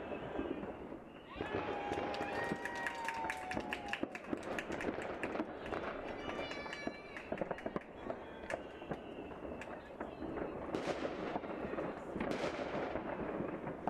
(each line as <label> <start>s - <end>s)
fireworks 0.0s - 13.8s